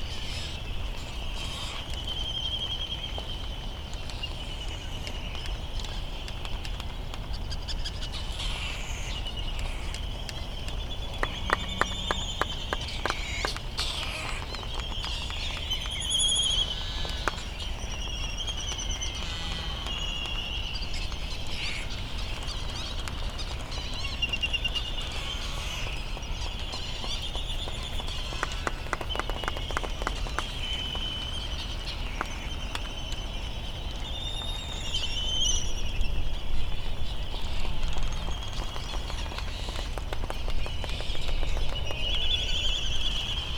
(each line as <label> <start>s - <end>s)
slight breeze 0.0s - 43.5s